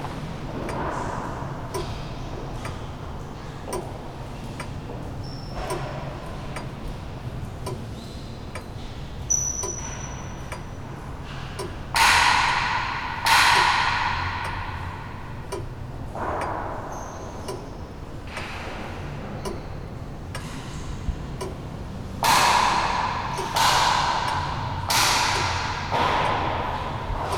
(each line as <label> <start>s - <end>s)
clock ticking away 11.6s - 18.5s
clock ticking away 20.3s - 27.3s